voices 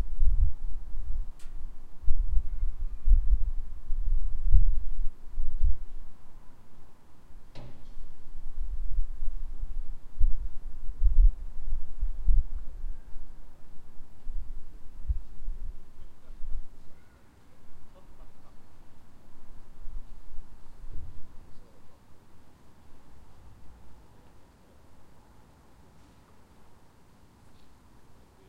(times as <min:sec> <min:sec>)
0:16.0 0:19.0